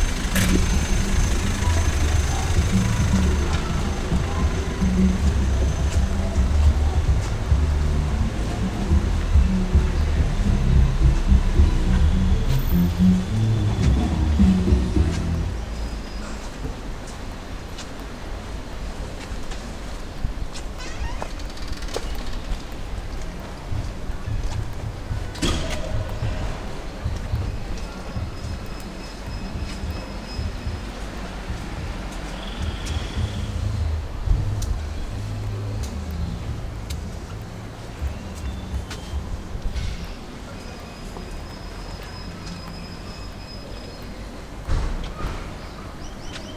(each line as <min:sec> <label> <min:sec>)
0:00.0 Asking the way 0:17.0
0:00.0 walking around 0:46.5